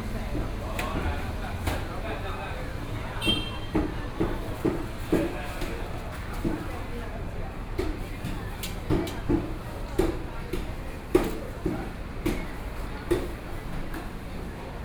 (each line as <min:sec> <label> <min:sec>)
0:00.0 Walking through the traditional market 0:14.8